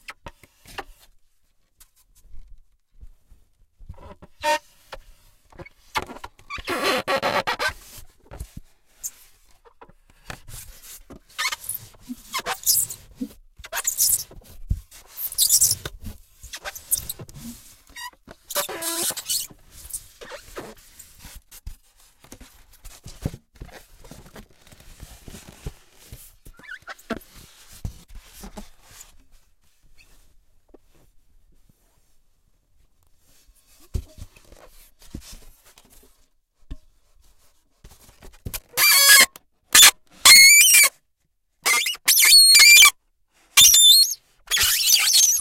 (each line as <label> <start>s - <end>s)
Polystyrene on glass window 41.7s - 42.9s
Polystyrene on glass window 43.6s - 45.4s